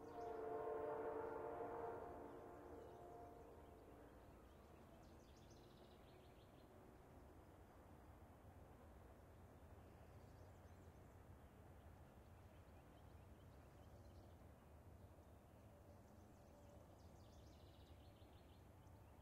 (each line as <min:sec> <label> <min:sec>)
0:00.0 Amtrak train going through Cornelia 0:16.2